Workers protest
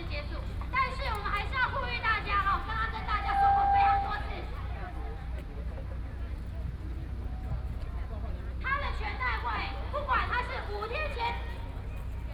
0:00.0 0:06.0

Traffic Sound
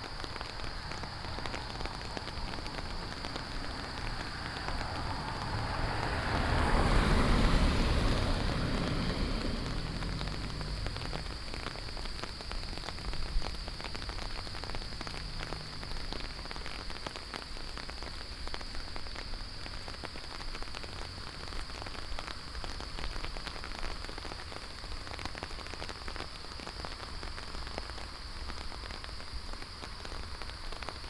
0:00.0 0:18.3

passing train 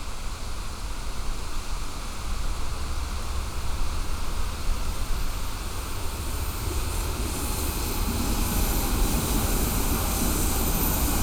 0:02.6 0:11.2

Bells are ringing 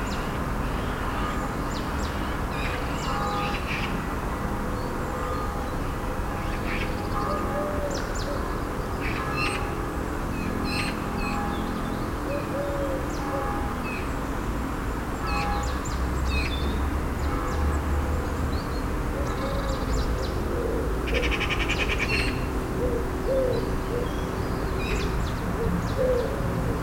0:02.8 0:12.2

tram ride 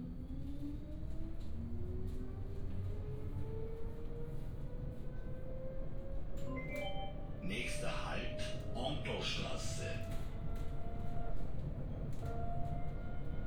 0:05.4 0:13.4

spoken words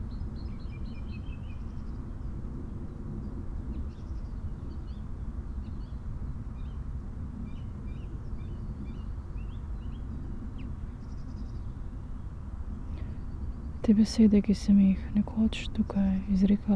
0:13.8 0:16.7

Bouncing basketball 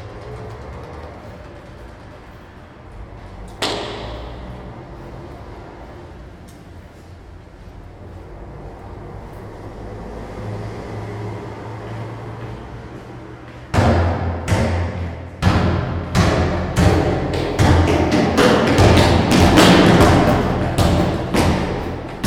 0:03.6 0:04.5, 0:13.7 0:22.2

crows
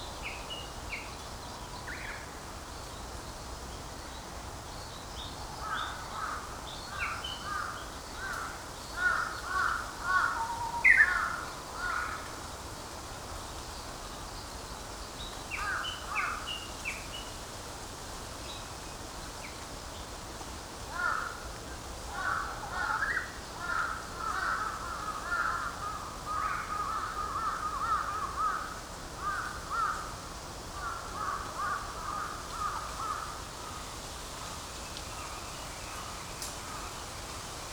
0:07.4 0:12.4, 0:20.9 0:21.5, 0:22.1 0:30.2, 0:30.8 0:33.8

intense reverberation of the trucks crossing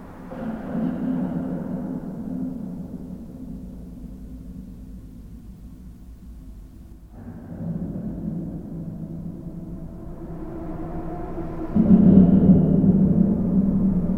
0:07.2 0:14.1

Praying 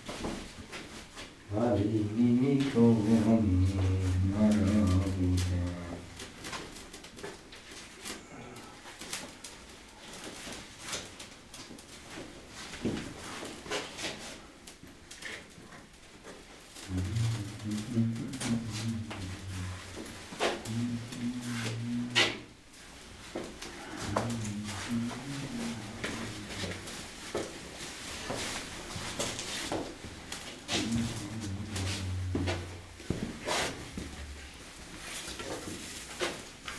0:01.5 0:06.3, 0:16.8 0:27.5, 0:30.4 0:34.6

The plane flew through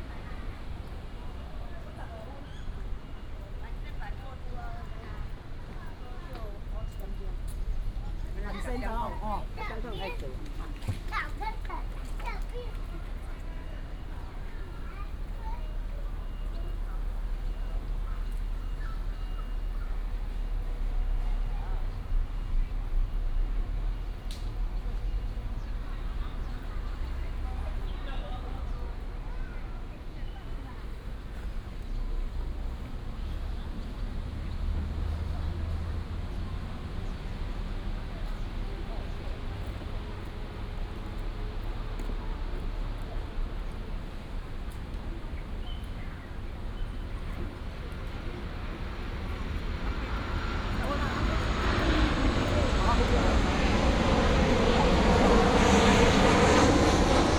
0:48.0 0:57.3

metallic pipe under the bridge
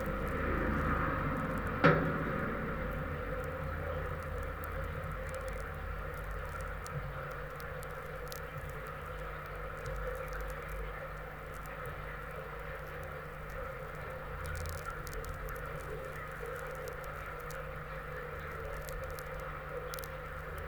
0:00.0 0:07.4

